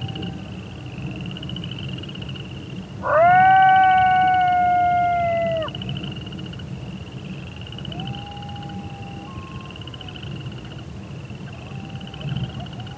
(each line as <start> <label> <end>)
0.0 cricket are singing 12.9
3.0 coyote is howling 5.8
7.8 coyote is howling 10.2